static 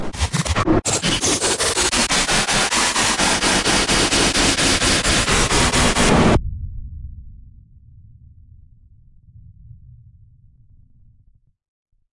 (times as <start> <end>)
0.0 6.4